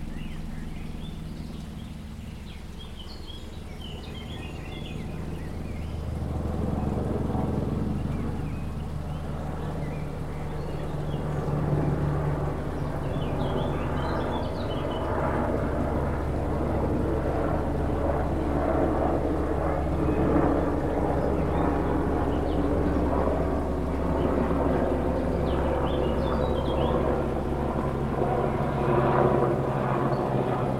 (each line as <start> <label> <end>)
0.0 military helicopter passing overhead 30.7